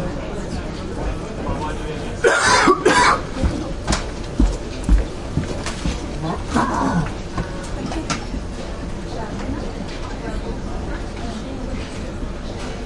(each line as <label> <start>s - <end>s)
people walk by carpet 0.0s - 12.8s
quebecois voices 5.8s - 8.5s